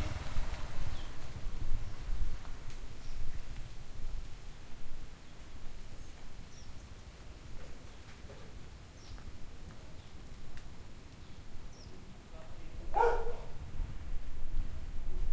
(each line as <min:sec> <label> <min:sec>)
0:00.0 Near and Light Traffic 0:03.2
0:00.0 Light Footsteps 0:04.4
0:00.0 Leaves on Trees Rustling 0:15.3
0:00.0 Light Wind 0:15.3
0:00.8 Birds 0:02.1
0:05.2 Birds 0:10.4
0:06.5 Near and Light Traffic 0:13.6
0:11.0 Birds 0:12.2
0:12.9 Dog Barking 0:13.6